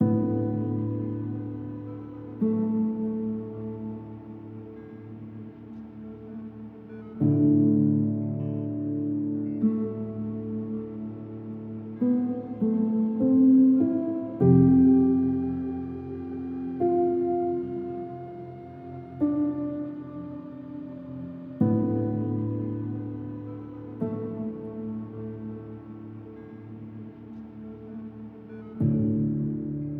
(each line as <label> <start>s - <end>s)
piano 0.0s - 29.9s